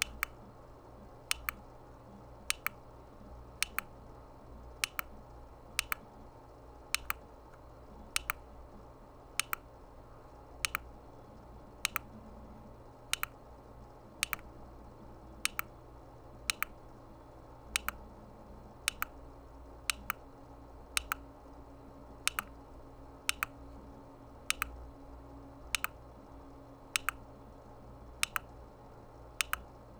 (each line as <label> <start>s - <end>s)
computer mouse trackball clicking 0.0s - 0.4s
computer mouse trackball clicking 1.3s - 1.6s
computer mouse trackball clicking 2.5s - 2.8s
computer mouse trackball clicking 3.6s - 4.0s
computer mouse trackball clicking 4.8s - 5.2s
computer mouse trackball clicking 5.8s - 6.1s
computer mouse trackball clicking 6.9s - 7.3s
computer mouse trackball clicking 8.1s - 8.5s
computer mouse trackball clicking 9.4s - 9.7s
computer mouse trackball clicking 10.6s - 10.9s
computer mouse trackball clicking 11.8s - 12.1s
computer mouse trackball clicking 13.1s - 13.4s
computer mouse trackball clicking 14.2s - 14.5s
computer mouse trackball clicking 15.4s - 15.7s
computer mouse trackball clicking 16.5s - 16.8s
computer mouse trackball clicking 17.8s - 18.1s
computer mouse trackball clicking 18.9s - 19.2s
computer mouse trackball clicking 19.9s - 20.2s
computer mouse trackball clicking 21.0s - 21.2s
computer mouse trackball clicking 22.3s - 22.6s
computer mouse trackball clicking 23.3s - 23.6s
computer mouse trackball clicking 24.5s - 24.8s
computer mouse trackball clicking 25.7s - 26.0s
computer mouse trackball clicking 27.0s - 27.2s
computer mouse trackball clicking 28.2s - 28.5s
computer mouse trackball clicking 29.4s - 29.7s